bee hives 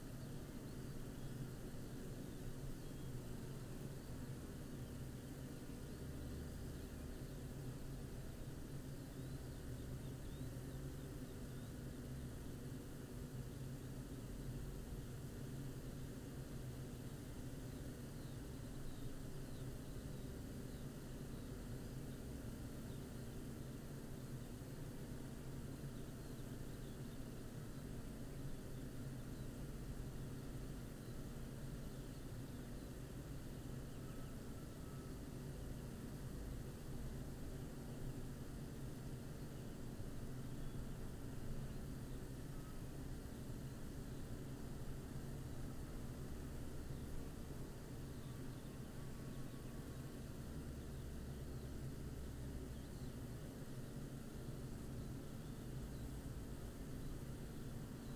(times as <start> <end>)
51.0 58.1